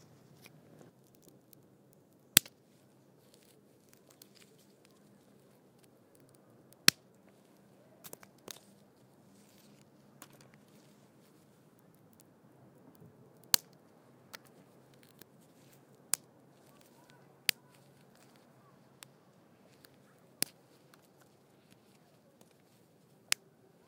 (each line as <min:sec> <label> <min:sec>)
0:02.4 stick sticks wood crackle snap break breaking 0:02.6
0:08.0 stick sticks wood crackle snap break breaking 0:08.7
0:10.2 stick sticks wood crackle snap break breaking 0:10.7
0:13.4 stick sticks wood crackle snap break breaking 0:15.3
0:19.0 stick sticks wood crackle snap break breaking 0:22.7